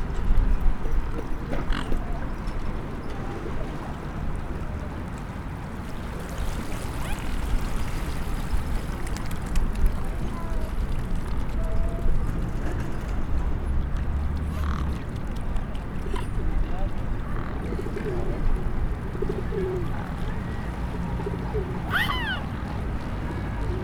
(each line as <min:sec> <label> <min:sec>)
0:16.0 enfants nourrissent les cygnes 0:23.8